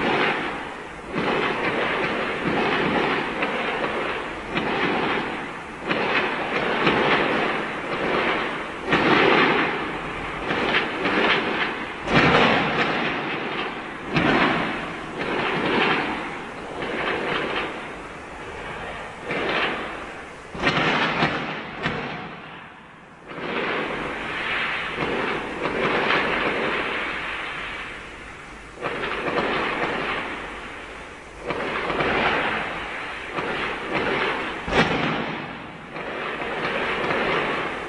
fireworks 0.0 - 37.8

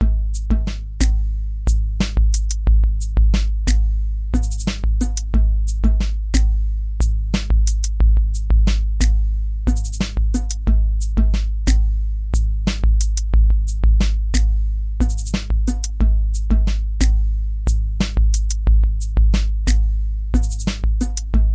beat 0.0 - 21.5

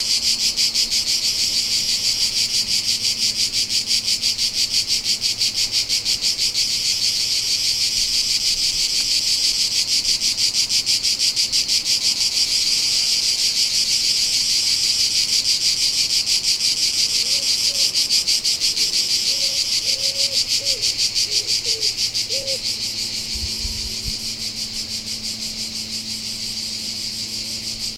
cicada 0.0 - 27.9

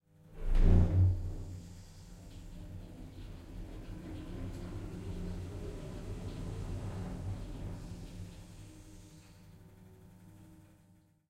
travelling in a typical elevator 0.4 - 10.9

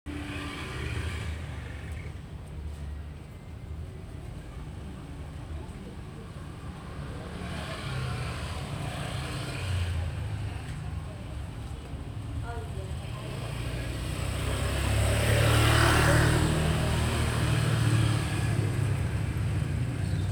distant motorcycle traffic 0.1 - 20.3
motorcycle passing by me 0.1 - 2.2
motorcycle passing by me 13.0 - 20.3

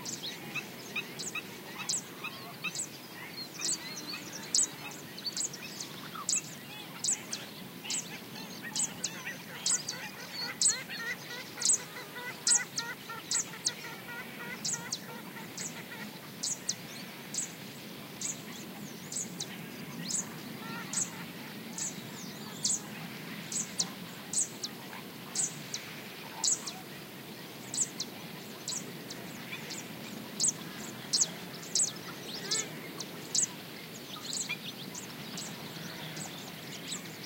chirps from other birds 0.0 - 17.6
chirps from other birds 18.2 - 37.2

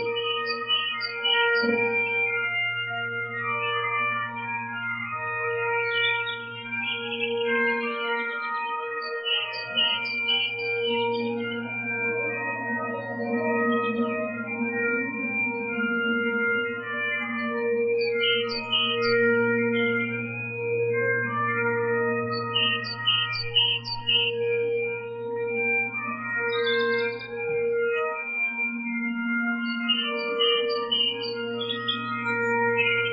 birds 17.6 - 20.3
birds 22.2 - 24.5
birds 29.6 - 33.1

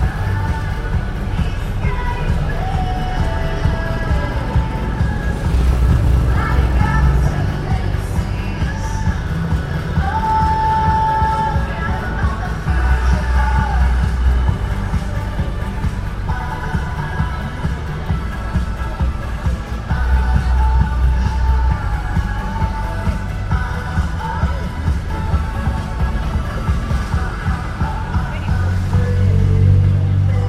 crowd 0.0 - 30.4
music and commercials from a large LCD TV 0.0 - 30.4

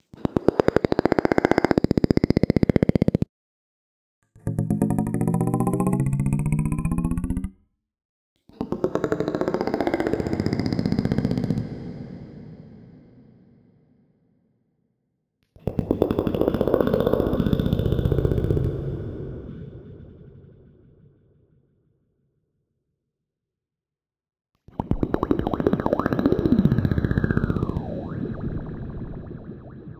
vocal click FX 24.8 - 29.9

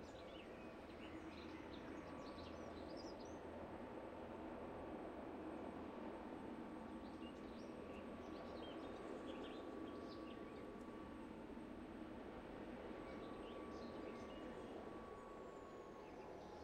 helicopter landing on the field nearby 0.0 - 16.6

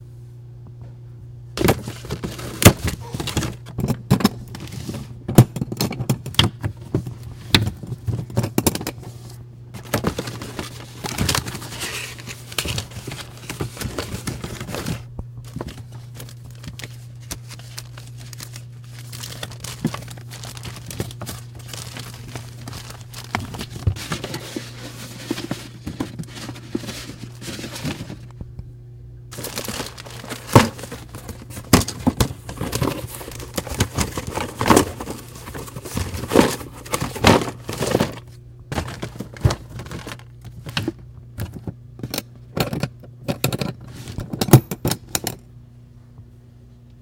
shuffling papers 1.6 - 5.4
shuffling papers 6.4 - 28.4
shuffling papers 29.3 - 41.8
shuffling papers 43.7 - 44.4

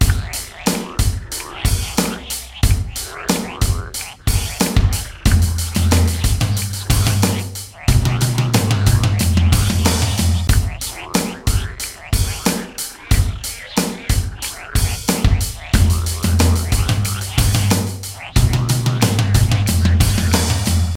drums 0.0 - 20.9
bass 3.6 - 10.9
bass 14.2 - 20.9

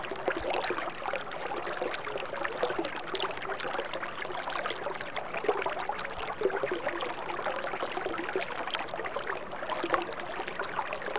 small stream 0.0 - 11.1

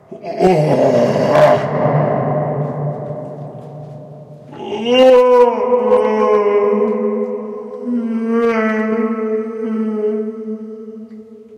moaning, with echo and low-pitched 0.0 - 11.5
scream 0.1 - 11.0

